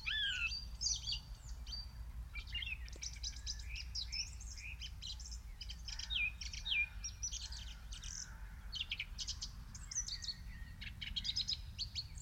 Wood pigeons call 0.0 - 1.2
song thrush sings loudly 0.0 - 1.8
pheasants 0.0 - 12.2
skylarks 0.0 - 12.2
owl hoots in the far distance 0.0 - 0.5
crows 5.9 - 9.1

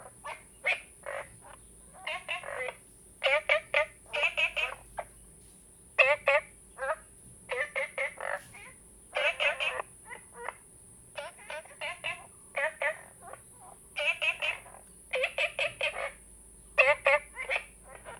Frogs chirping 0.0 - 5.3
Frogs chirping 6.0 - 18.1

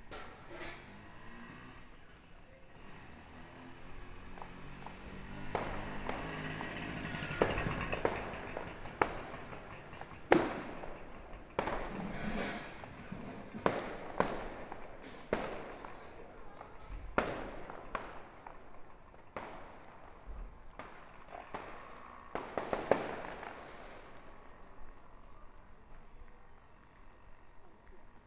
walking on the Road 0.0 - 28.2
Fireworks and firecrackers 0.0 - 27.5
Traffic Sound 0.0 - 28.2

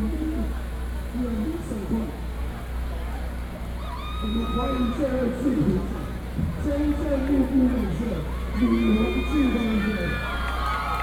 Speech 0.0 - 3.4
Speech 4.2 - 10.3
crowd shouting 8.2 - 11.0

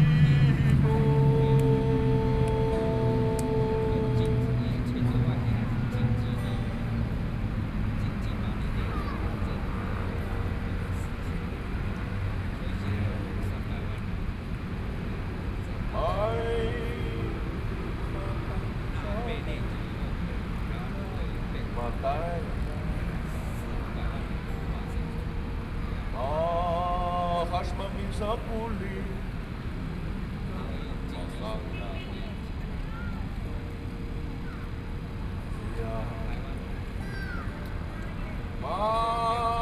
Aboriginal songs 0.0 - 9.1
Aboriginal songs 14.7 - 39.6

